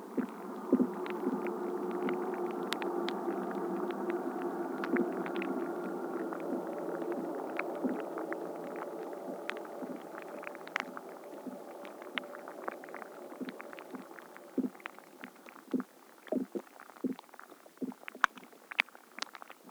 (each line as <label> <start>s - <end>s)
fiets 0.0s - 15.8s